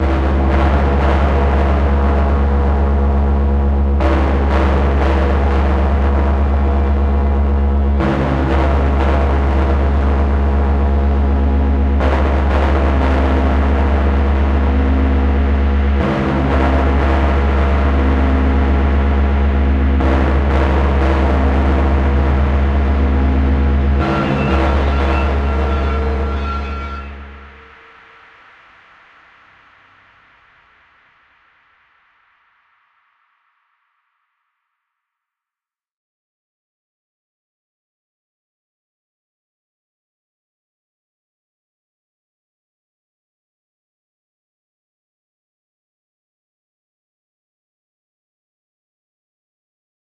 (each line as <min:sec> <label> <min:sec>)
0:00.0 soft, dark tone 0:31.9
0:22.3 guitar 0:27.5
0:23.0 screech 0:28.3